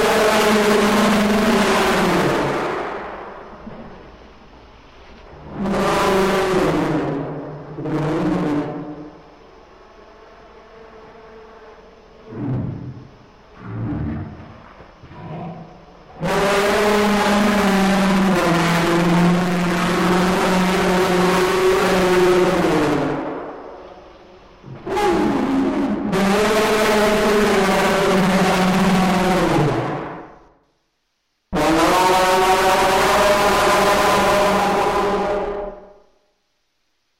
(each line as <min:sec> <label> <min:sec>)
0:00.0 Mammoth Noising / Roaring / Yelling 0:04.0
0:05.4 Mammoth Noising / Roaring / Yelling 0:08.9
0:10.7 Mammoth Noising / Roaring / Yelling 0:23.7
0:24.6 Mammoth Noising / Roaring / Yelling 0:30.1
0:31.5 Mammoth Noising / Roaring / Yelling 0:35.7